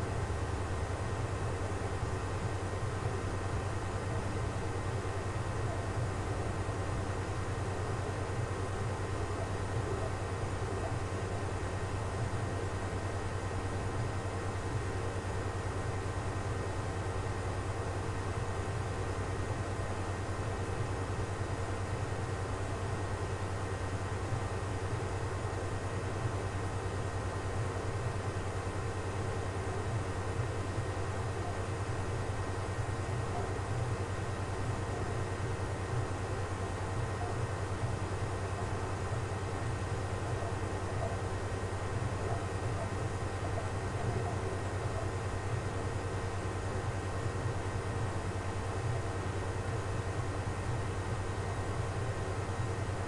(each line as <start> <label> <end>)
9.1 Very distant TV sounds 11.7
42.1 Very distant TV sounds 45.2